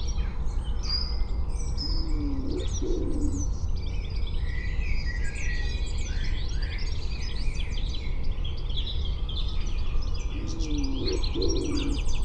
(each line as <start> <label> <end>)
1.6 owls and birds call 3.6
10.2 owls and birds call 12.2